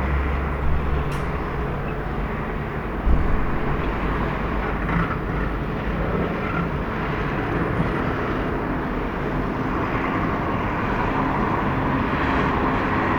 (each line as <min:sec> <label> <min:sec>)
0:00.0 Construction going on 0:08.1